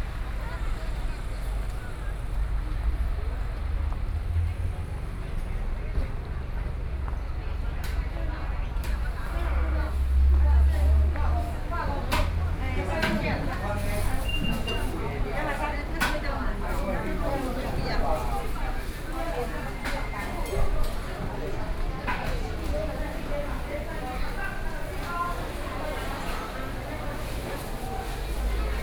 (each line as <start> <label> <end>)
0.0 Walking through the market 28.8